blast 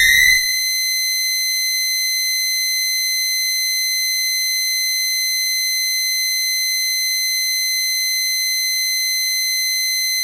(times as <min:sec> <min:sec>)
0:00.0 0:00.6